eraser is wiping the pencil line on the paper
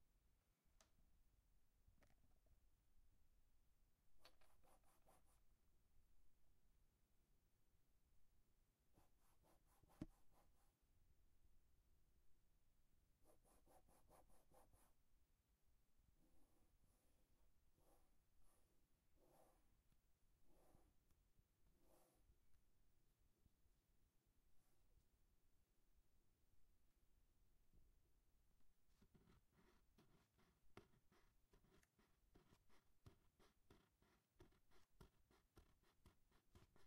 4.4 5.5, 9.0 10.8, 13.2 15.0, 17.8 19.7, 20.5 21.0, 21.8 22.3, 29.0 36.8

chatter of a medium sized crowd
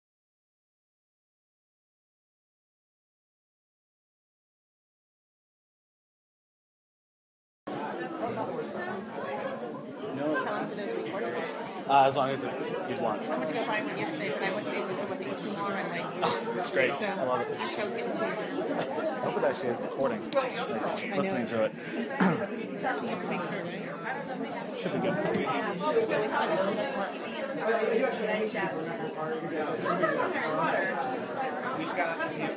7.7 32.5

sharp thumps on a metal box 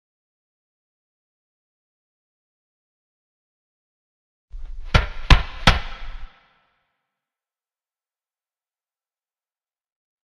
4.8 6.3

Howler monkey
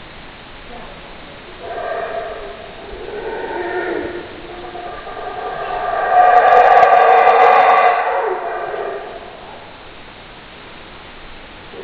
1.4 9.8

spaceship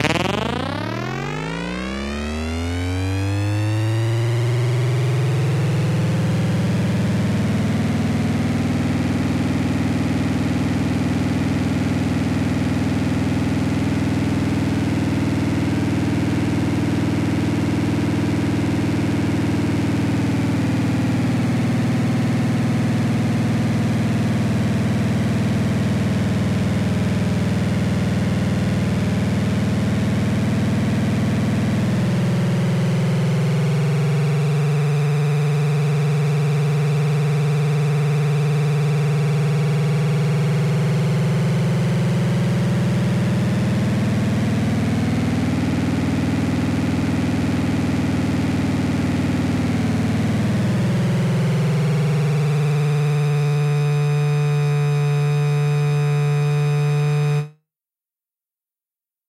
0.0 3.7

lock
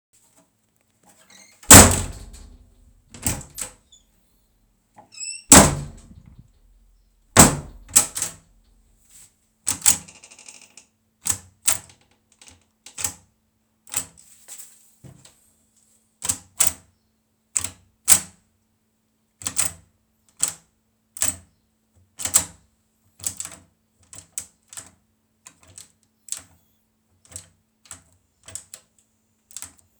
1.3 3.7, 5.2 6.4, 7.4 8.4

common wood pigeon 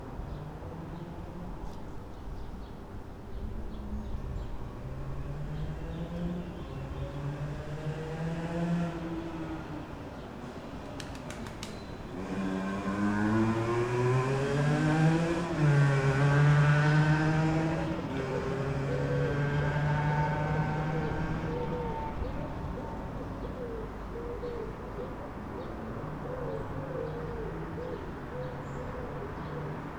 10.8 12.2, 21.0 29.9

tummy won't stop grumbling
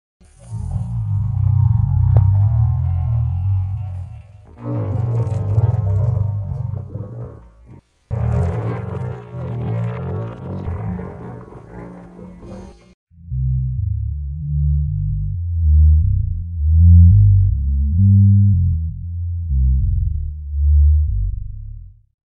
0.4 12.9

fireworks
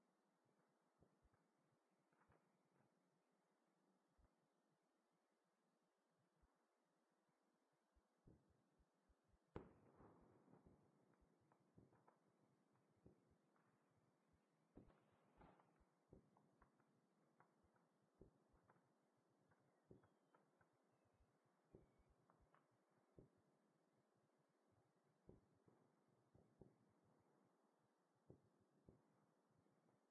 9.5 23.5, 25.2 27.6, 28.2 29.7

